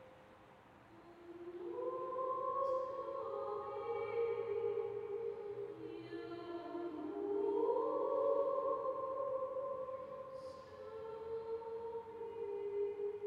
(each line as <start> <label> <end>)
0.9 female singer 13.2